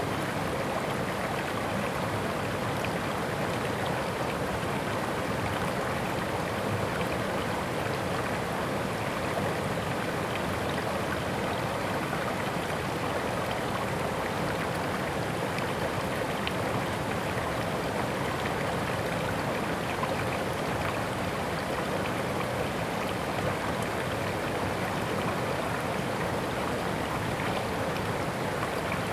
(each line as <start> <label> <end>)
0.0 brook 29.1